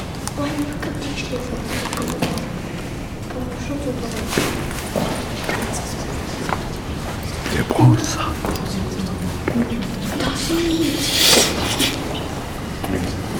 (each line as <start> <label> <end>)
5.5 tempête à l'extérieur 12.6
10.0 Enfants à l'intérieur de l'église 12.3